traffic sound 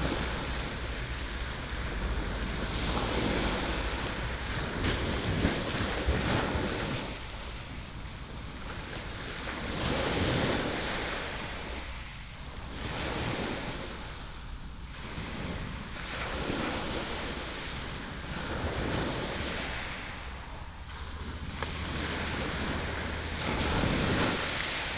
0:00.0 0:05.2, 0:19.4 0:24.9

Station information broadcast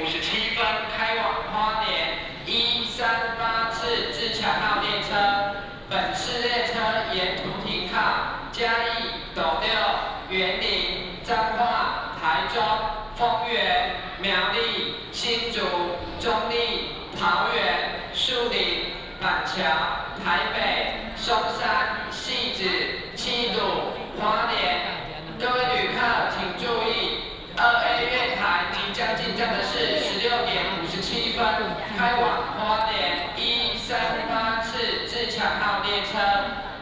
0:27.8 0:35.0

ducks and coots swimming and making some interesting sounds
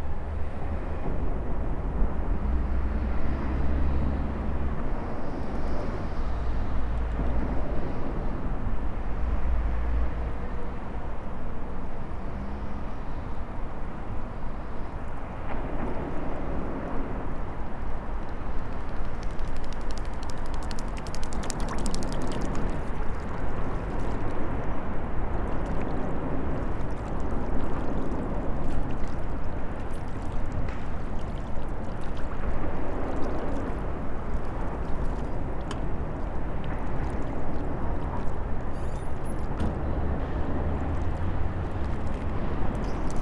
0:19.1 0:43.2

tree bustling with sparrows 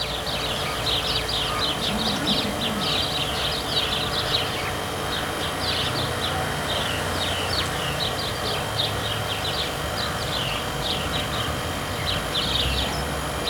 0:00.4 0:05.8

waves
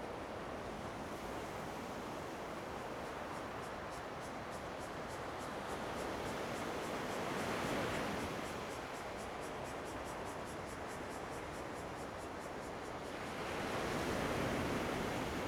0:13.0 0:15.4

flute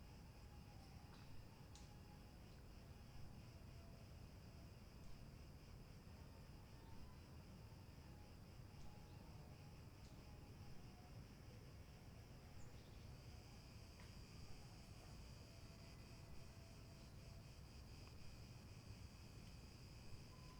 0:20.1 0:20.5

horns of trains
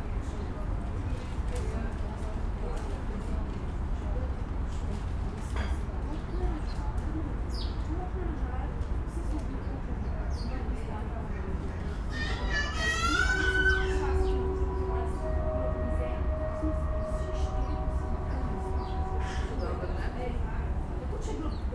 0:12.0 0:21.7

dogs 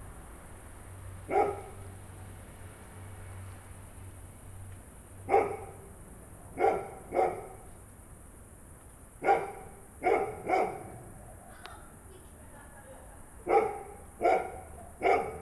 0:01.3 0:01.8, 0:05.3 0:05.9, 0:06.5 0:07.7, 0:09.2 0:11.9, 0:12.6 0:15.4

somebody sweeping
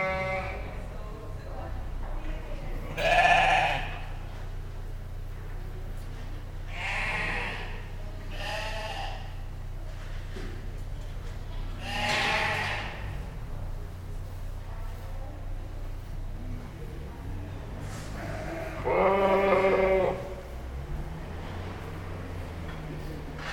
0:17.8 0:18.2

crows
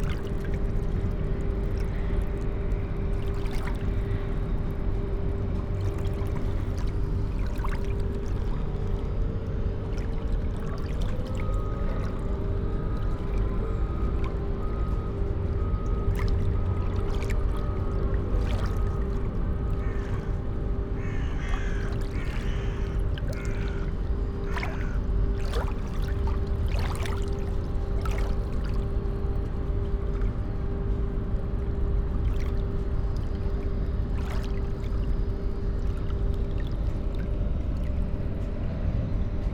0:19.8 0:20.4, 0:21.0 0:25.0

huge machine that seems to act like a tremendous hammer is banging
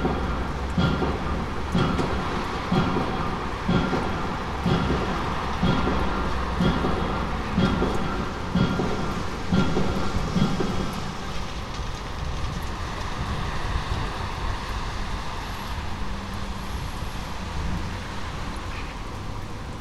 0:00.0 0:14.0

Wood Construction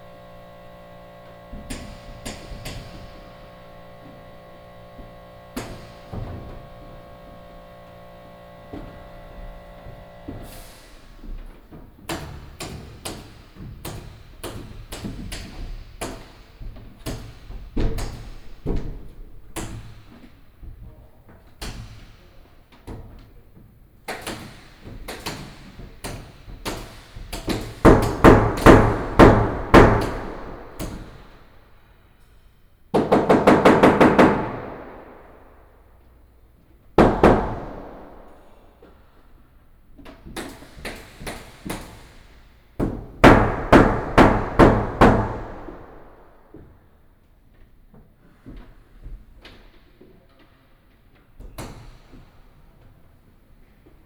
0:00.0 0:23.4, 0:24.1 0:31.5, 0:32.9 0:35.7, 0:37.0 0:39.2, 0:40.0 0:46.8

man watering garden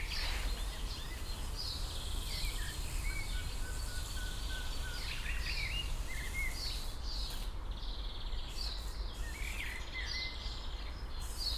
0:00.0 0:07.4

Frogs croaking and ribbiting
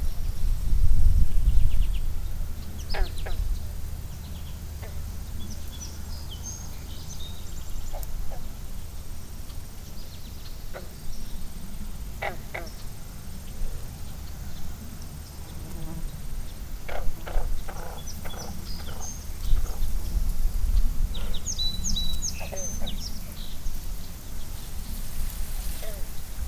0:02.6 0:09.0, 0:10.6 0:23.9, 0:25.2 0:26.4

